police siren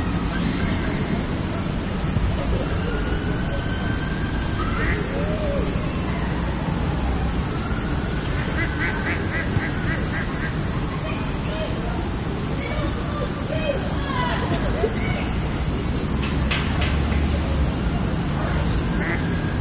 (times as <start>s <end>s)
2.2s 9.0s